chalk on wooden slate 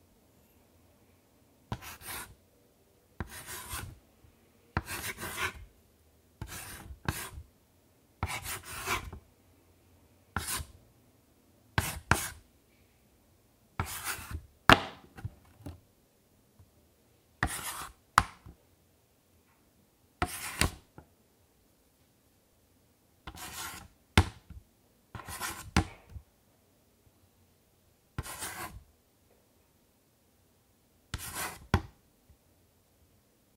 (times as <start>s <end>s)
4.8s 5.7s, 8.2s 9.1s, 10.4s 10.7s, 17.4s 18.0s, 23.3s 23.9s, 25.2s 25.9s, 28.2s 28.8s, 31.2s 31.8s